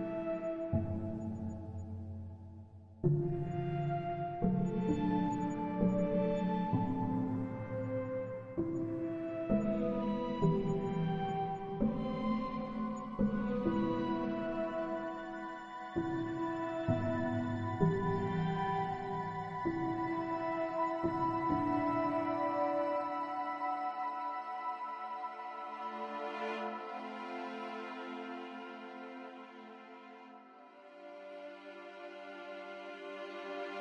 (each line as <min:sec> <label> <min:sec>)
0:00.0 strings 0:02.3
0:00.0 piano 0:33.8
0:03.0 strings 0:33.8